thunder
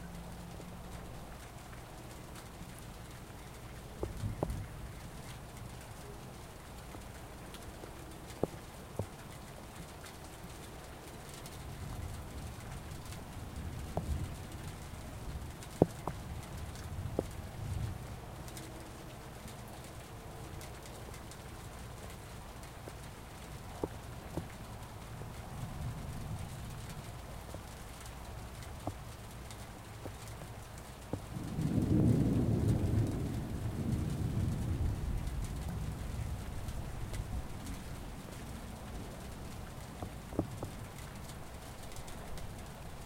0:31.3 0:36.6

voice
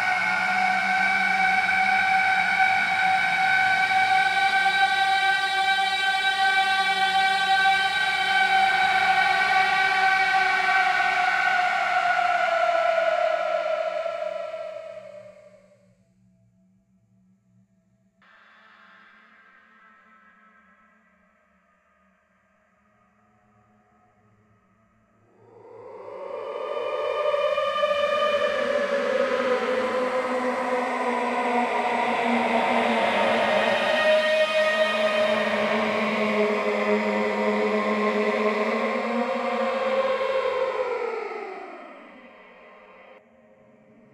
0:25.8 0:41.9

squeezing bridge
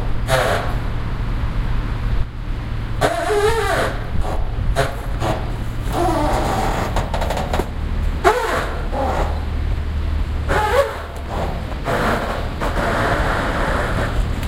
0:03.0 0:14.4

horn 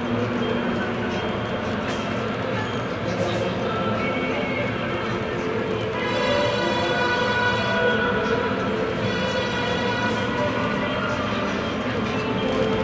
0:05.8 0:11.5

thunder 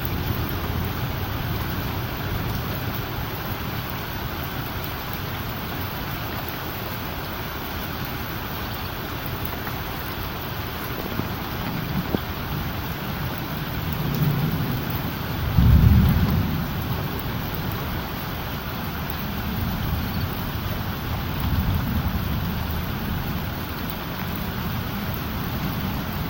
0:13.9 0:17.6

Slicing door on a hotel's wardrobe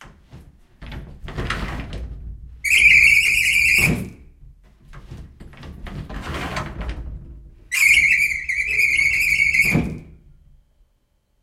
0:05.0 0:07.2

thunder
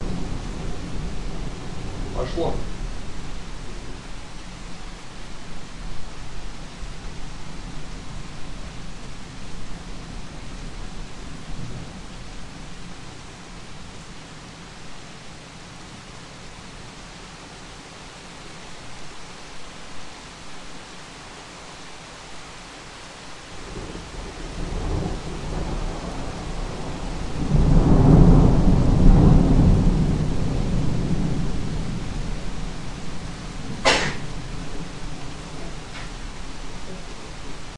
0:00.0 0:04.1, 0:23.6 0:37.0

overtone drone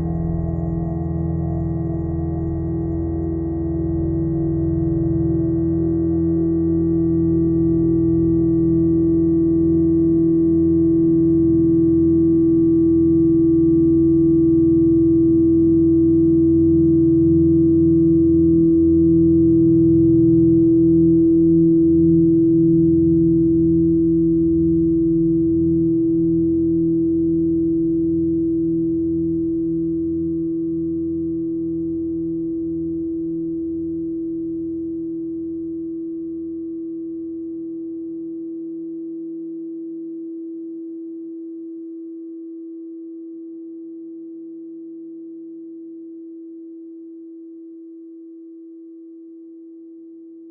0:00.0 0:07.4

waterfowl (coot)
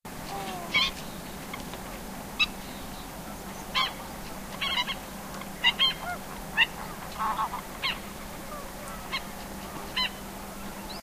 0:04.6 0:05.0, 0:05.6 0:10.2

